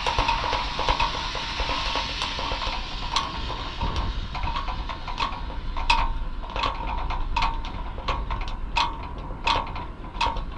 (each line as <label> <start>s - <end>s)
loose wires tumbling polyrhythmically inside 0.0s - 10.5s